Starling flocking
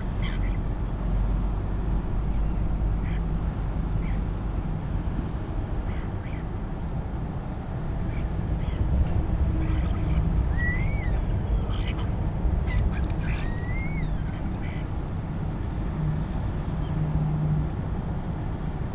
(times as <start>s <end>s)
0.0s 0.5s